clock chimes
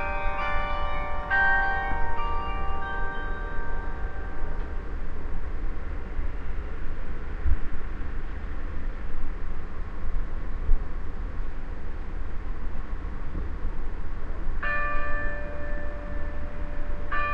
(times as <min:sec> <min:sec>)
0:00.0 0:04.8, 0:14.6 0:17.3